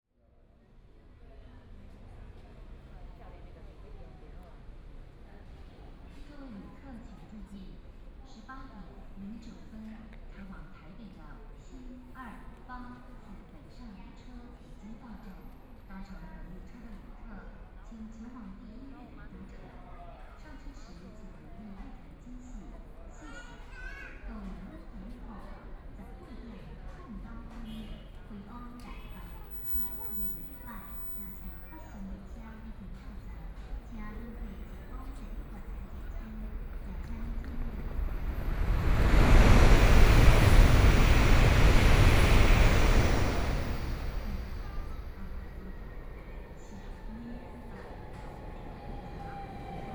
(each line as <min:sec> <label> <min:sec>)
0:28.1 Train arrived 0:49.9